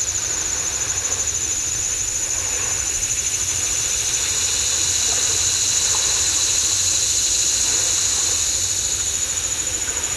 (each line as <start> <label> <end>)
2.0 waves 10.1